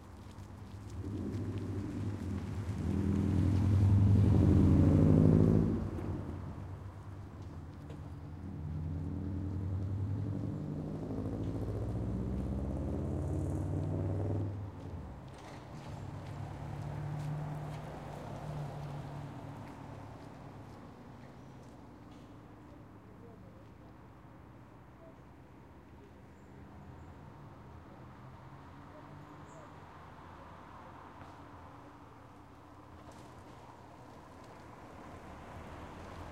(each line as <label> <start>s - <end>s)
Traffic 0.0s - 36.3s